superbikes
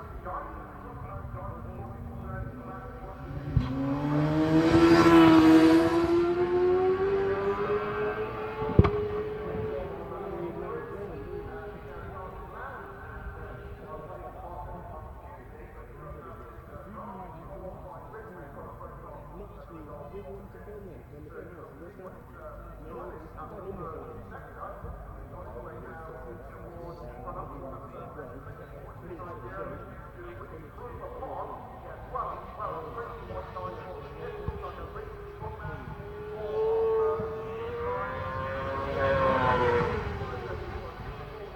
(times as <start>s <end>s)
0.0s 17.0s, 28.7s 41.5s